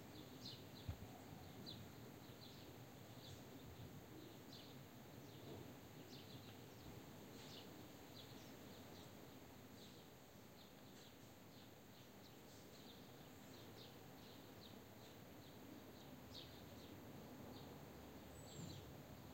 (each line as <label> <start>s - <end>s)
wind 0.0s - 19.3s
Birds 0.1s - 19.3s